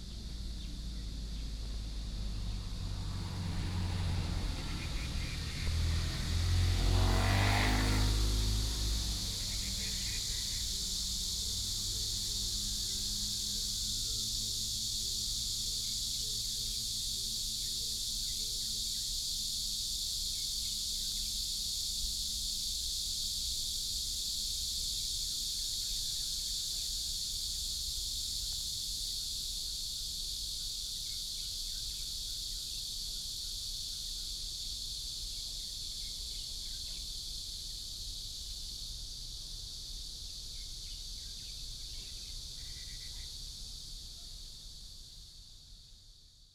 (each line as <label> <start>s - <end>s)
Cicadas 0.0s - 46.5s
traffic sound 0.0s - 29.1s
Birds 4.0s - 6.4s